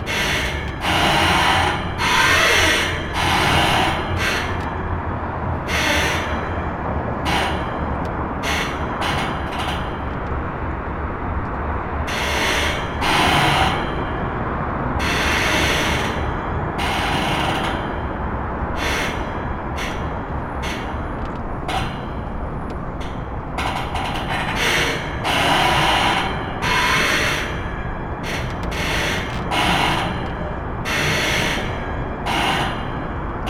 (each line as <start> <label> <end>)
0.0 pontoon creaking at the mercy of the waves 5.1
7.2 pontoon creaking at the mercy of the waves 11.3
15.2 pontoon creaking at the mercy of the waves 33.4